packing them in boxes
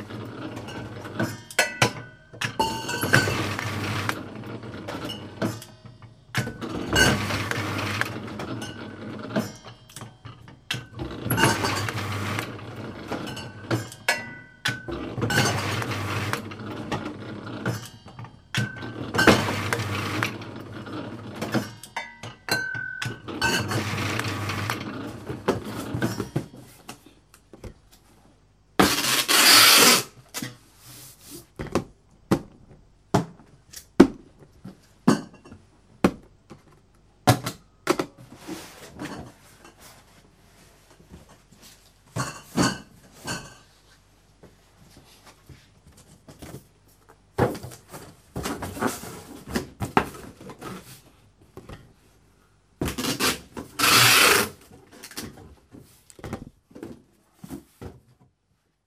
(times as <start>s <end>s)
11.0s 14.2s, 23.1s 35.0s, 36.0s 58.7s